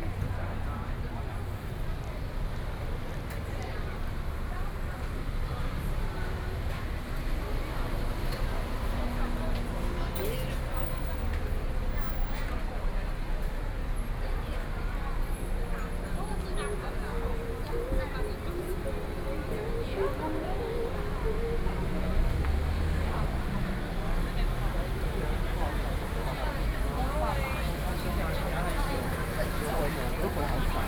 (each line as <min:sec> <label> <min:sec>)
0:00.0 Walking on the streets 0:30.8
0:06.4 Traffic Sound 0:30.8